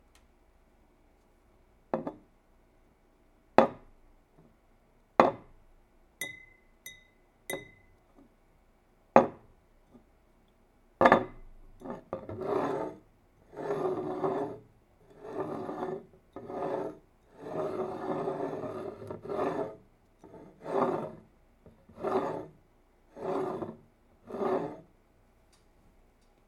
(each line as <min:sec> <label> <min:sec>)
0:01.9 Glass cup on wood 0:02.2
0:06.2 Glass cup on wood 0:07.9
0:06.2 tinking 0:08.0